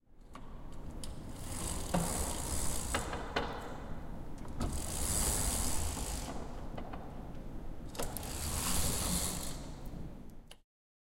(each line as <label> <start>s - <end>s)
curtain of a classroom up and down 0.7s - 6.6s
curtain of a classroom up and down 7.9s - 9.8s